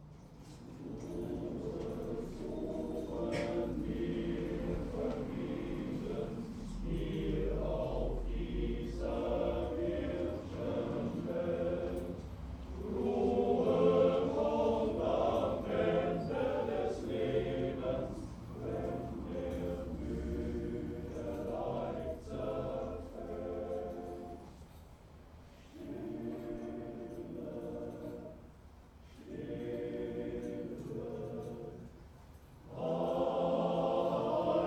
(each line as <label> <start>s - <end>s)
funeral choir 0.0s - 34.6s